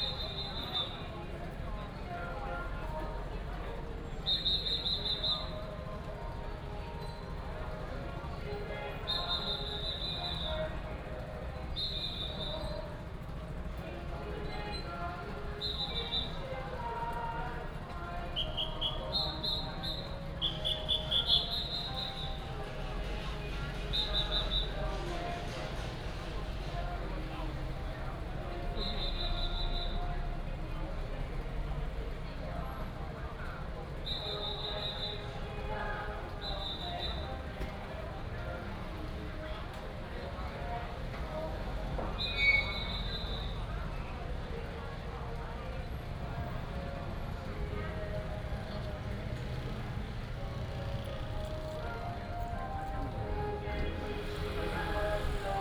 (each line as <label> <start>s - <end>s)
Many people gathered at the intersection 0.0s - 55.6s